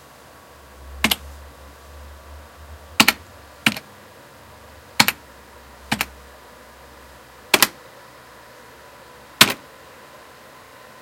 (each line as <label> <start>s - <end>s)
typing at my natural speed 1.0s - 1.2s
typing at my natural speed 3.0s - 3.9s
typing at my natural speed 5.0s - 5.2s
typing at my natural speed 5.9s - 6.2s
typing at my natural speed 7.5s - 7.8s